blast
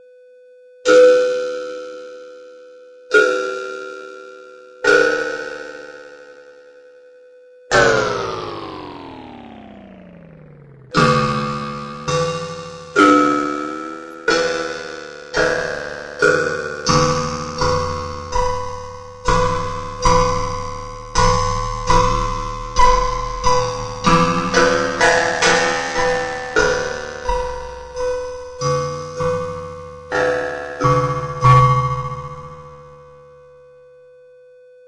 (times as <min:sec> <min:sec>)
0:20.0 0:28.7